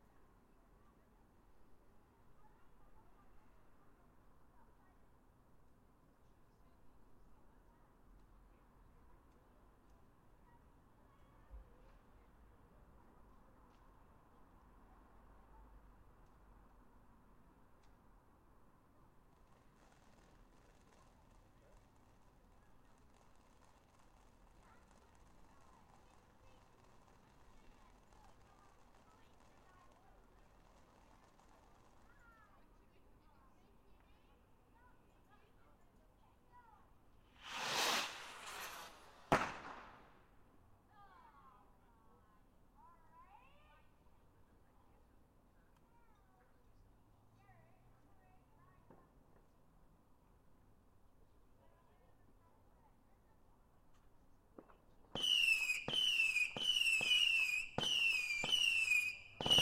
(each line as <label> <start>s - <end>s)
bnfire 15.9s - 34.6s
fireworks 19.3s - 32.3s
people 19.4s - 39.9s
bnfire 36.4s - 40.6s
fireworks 37.3s - 40.2s
bnfire 54.6s - 59.6s
fireworks 54.6s - 59.6s